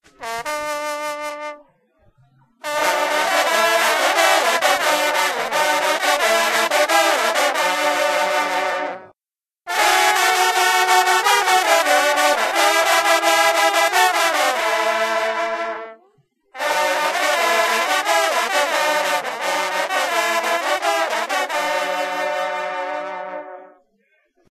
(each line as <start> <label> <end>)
0.0 Hunting horn players 1.7
2.6 Hunting horn players 16.0
16.6 Hunting horn players 23.9